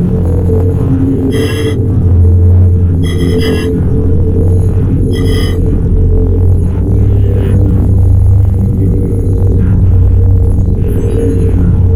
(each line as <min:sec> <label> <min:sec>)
0:00.0 hum 0:11.9
0:01.3 glitchy squelchy hi-tech sounds 0:01.8
0:03.0 glitchy squelchy hi-tech sounds 0:03.9
0:05.1 glitchy squelchy hi-tech sounds 0:05.7